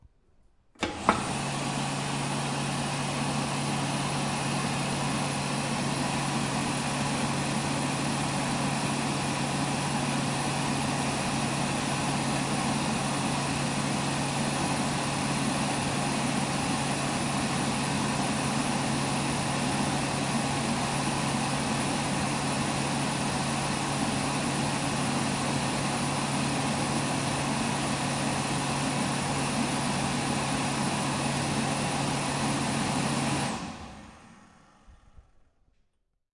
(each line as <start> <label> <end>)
0.7 fan 35.7
0.8 hand drier 33.8